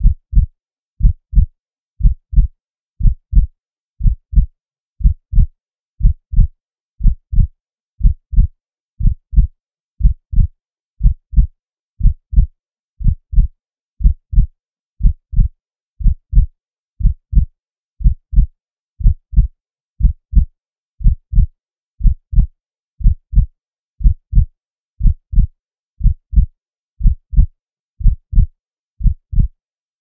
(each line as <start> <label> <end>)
0.0 synthesised heartbeat 29.5